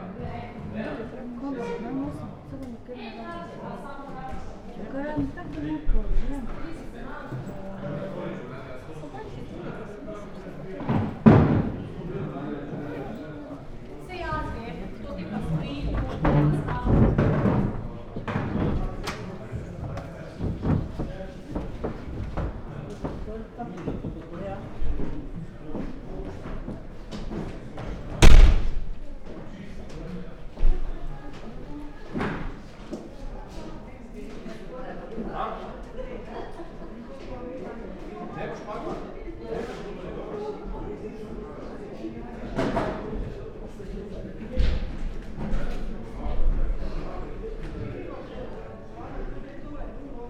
0.0s people leaving old hall 50.2s
15.8s wooden floor 24.3s
28.2s slapping doors 29.2s

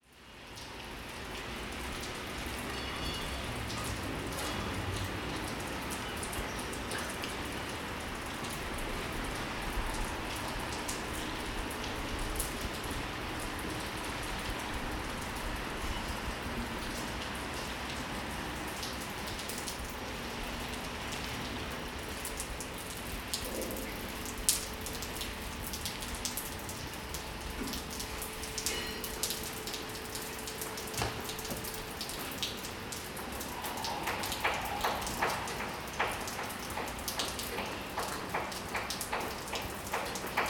27.4s Leaking Pipe 39.4s
30.4s Construction Work 40.4s

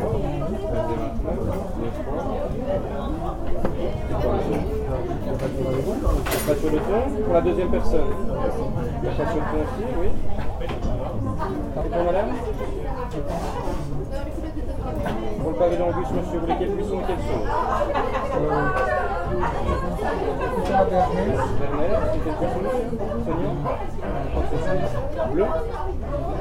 0.0s Busy restaurant 26.4s

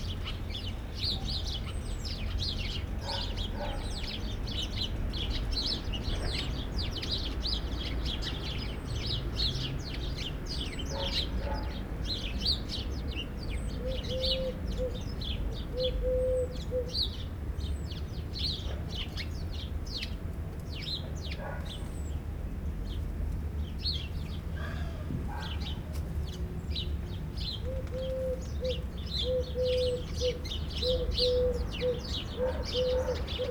0.0s birds 33.5s
3.0s dogs 4.0s
10.9s dogs 11.8s
21.3s dogs 21.8s
25.3s dogs 25.8s
32.3s dogs 33.5s

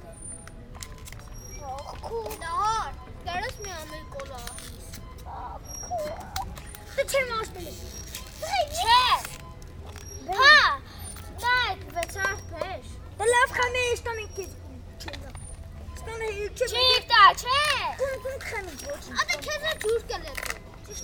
0.0s children went and played around us 21.0s
0.6s playing football with an old plastic bottle 12.8s
16.8s playing football with an old plastic bottle 21.0s

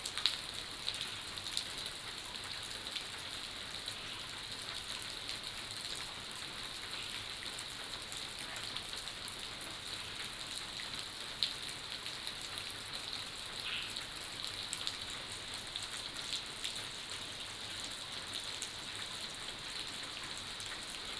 0.0s Rain 21.1s

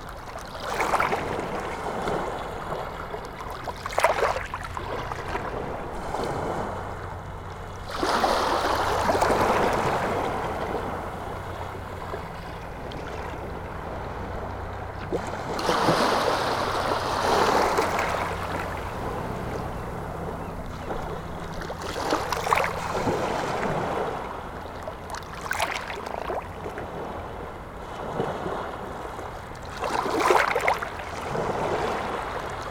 0.0s sea 32.7s
4.5s medical helicopter is passing 25.1s

